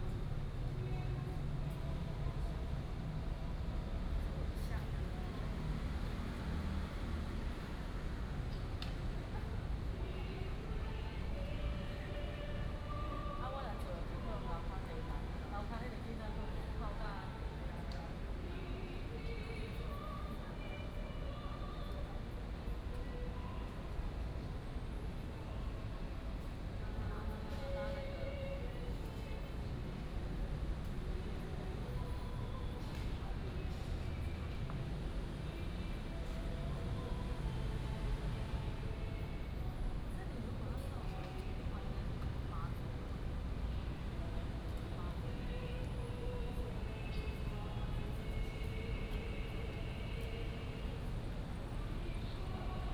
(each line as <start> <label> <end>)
3.9 Traffic noise 9.2